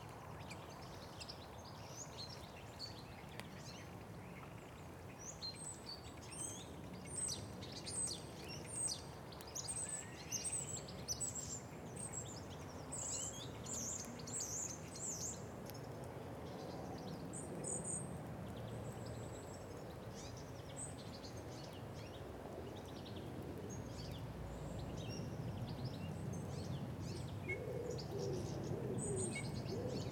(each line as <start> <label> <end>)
0.0 blackbirds 30.1